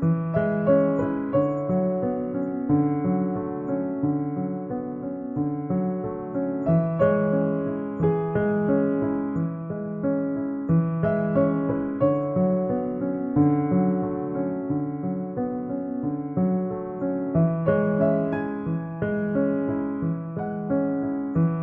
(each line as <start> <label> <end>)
0.0 Grand Piano 21.6